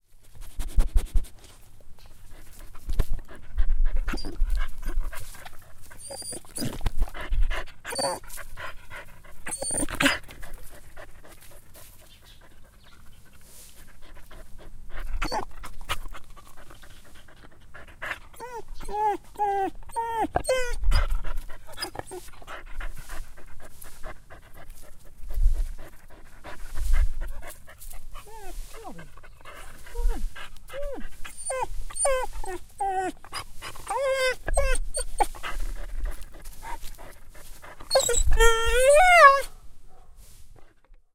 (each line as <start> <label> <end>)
4.1 Dog whining 4.4
6.0 Dog whining 6.8
7.9 Dog whining 8.2
9.5 Dog whining 10.3
15.2 Dog whining 15.5
18.4 Dog whining 21.1
28.2 Dog whining 29.2
29.9 Dog whining 35.4
37.9 Dog whining 39.5